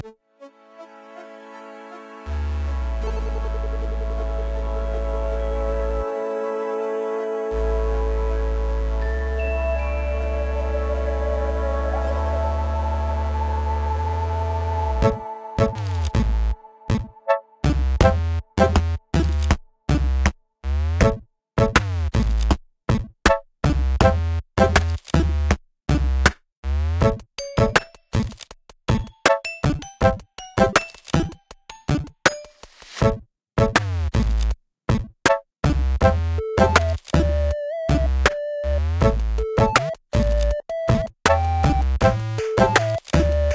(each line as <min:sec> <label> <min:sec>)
0:27.0 drums 0:43.5
0:36.0 chip tune 0:43.5